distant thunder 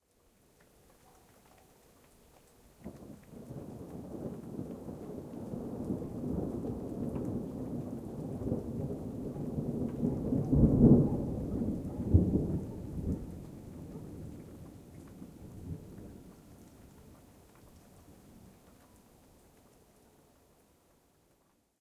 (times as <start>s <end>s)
2.8s 17.3s